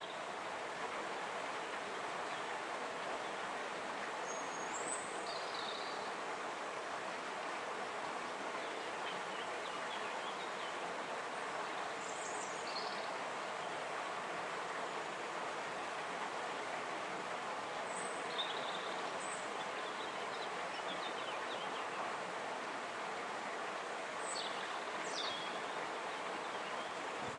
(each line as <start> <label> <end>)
0.0 water 27.3
17.7 birds 27.3